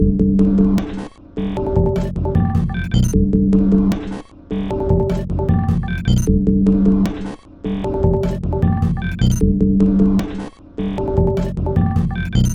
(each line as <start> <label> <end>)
0.8 Drum Loop 12.5